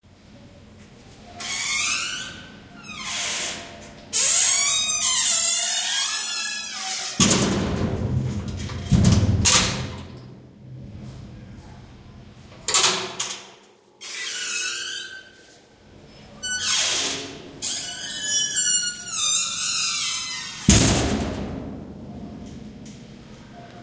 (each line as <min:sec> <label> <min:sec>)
0:12.6 Light Metal Door Closing and Locking 0:13.5